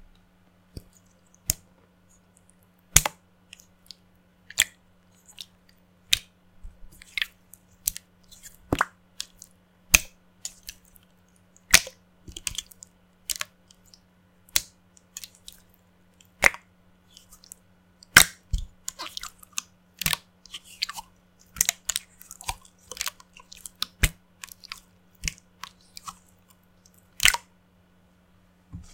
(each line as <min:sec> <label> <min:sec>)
0:00.7 Playing with a milky/watery slime 0:27.6